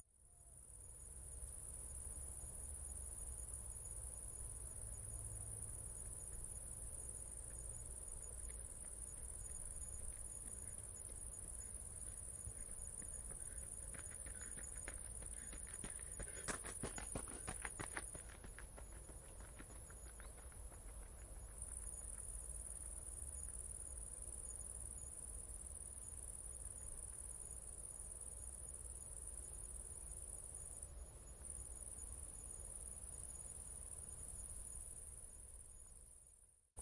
crickets 0:00.1 - 0:36.8
Jogger gravel running 0:08.4 - 0:22.3

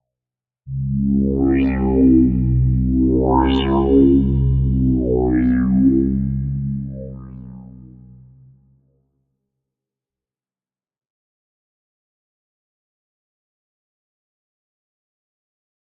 evolving bass/pad 0:00.7 - 0:08.6

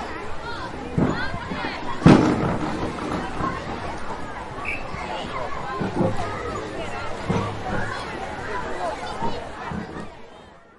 children swimming and shouting 0:00.0 - 0:10.7
warden's whistle 0:04.6 - 0:05.0

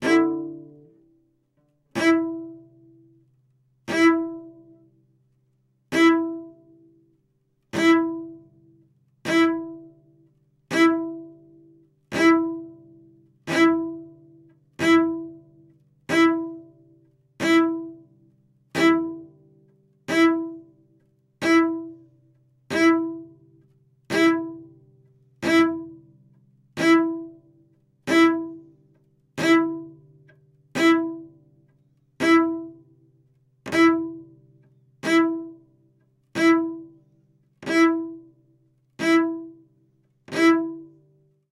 scraping, scratchy and droning improvisations on the cello 0:00.0 - 0:05.0
scraping, scratchy and droning improvisations on the cello 0:05.9 - 0:41.4

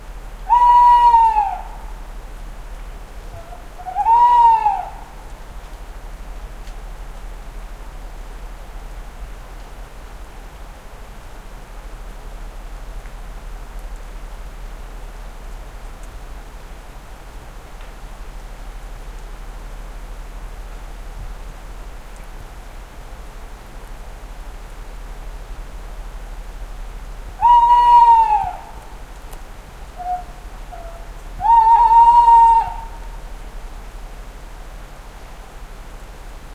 Call of a Tawny owl 0:00.4 - 0:02.0
Call of a Tawny owl 0:03.2 - 0:05.4
Call of a Tawny owl 0:27.4 - 0:29.2
Call of a Tawny owl 0:29.9 - 0:33.3

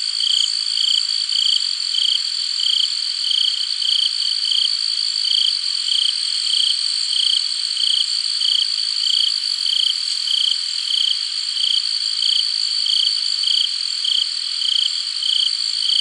crickets chirping 0:00.0 - 0:16.0

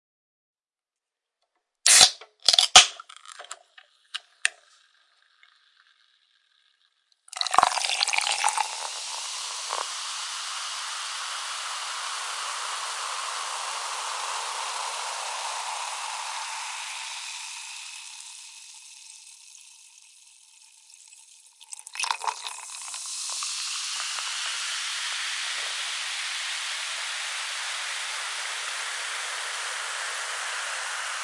can being opened 0:01.9 - 0:04.6
carbonated drink being poured into a glass 0:01.9 - 0:06.1
carbonated drink being poured into a glass 0:07.3 - 0:31.2
can being opened 0:07.3 - 0:10.5
can being opened 0:20.6 - 0:27.2

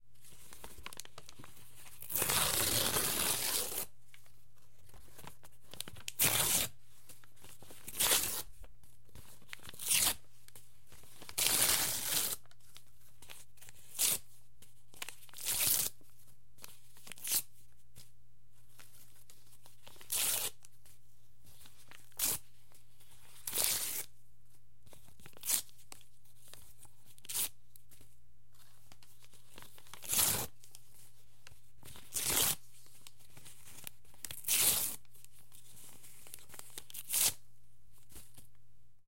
Ripping Thin Paper 0:02.0 - 0:03.9
Ripping Thin Paper 0:11.3 - 0:12.4
Ripping Thin Paper 0:29.6 - 0:30.5
Ripping Thin Paper 0:32.1 - 0:32.6
Ripping Thin Paper 0:34.2 - 0:35.0
Ripping Thin Paper 0:36.3 - 0:37.4

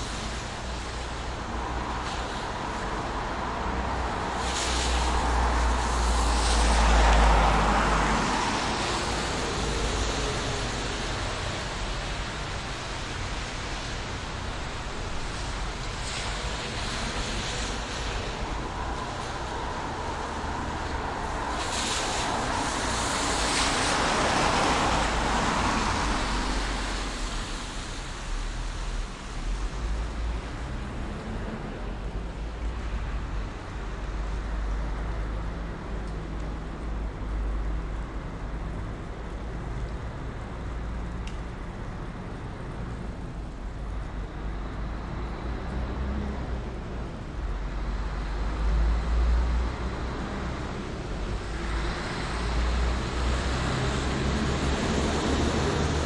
cars are driving 0:00.0 - 0:56.0
rain 0:00.0 - 0:56.0

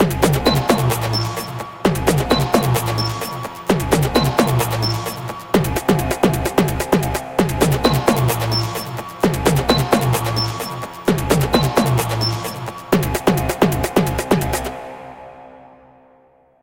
beat 0:00.0 - 0:14.7
drone 0:00.0 - 0:16.1
pad 0:07.7 - 0:13.4

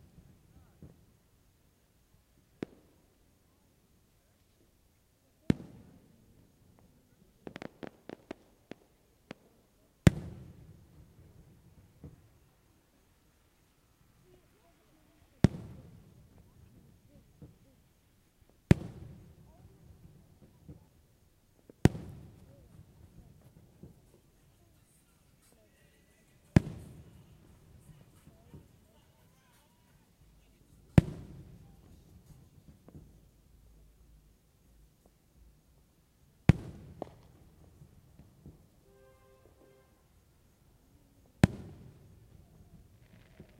Fireworks 0:00.0 - 0:43.5

